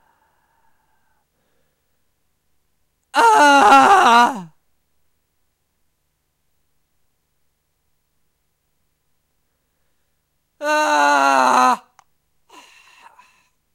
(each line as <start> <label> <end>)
3.1 my voice screaming of pain 4.6
10.6 my voice screaming of pain 12.0